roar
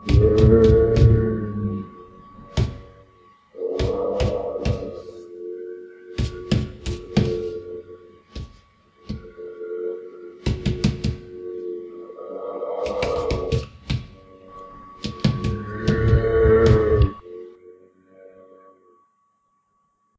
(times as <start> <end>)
0.0 1.9, 11.3 13.6